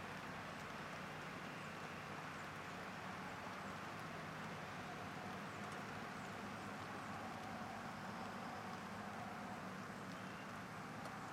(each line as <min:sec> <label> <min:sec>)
0:00.0 light rain 0:11.3
0:00.0 northbound traffic 0:11.3
0:04.6 birds 0:11.3